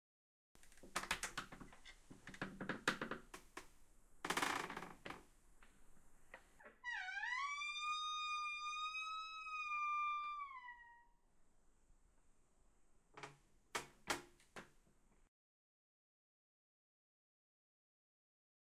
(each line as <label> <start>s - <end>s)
Open Door slowly squeak 6.6s - 11.2s